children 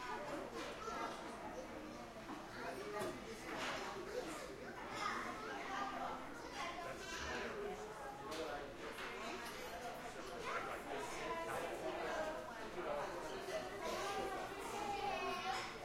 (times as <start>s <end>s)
0.0s 7.6s, 13.2s 15.8s